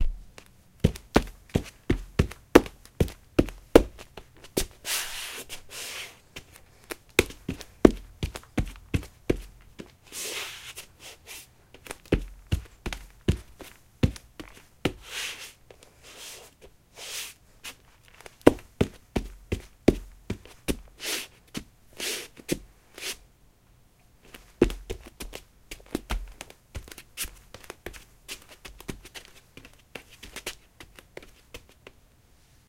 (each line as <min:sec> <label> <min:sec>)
0:00.0 Bare feet on wood floor 0:23.2
0:24.2 Bare feet on wood floor 0:32.0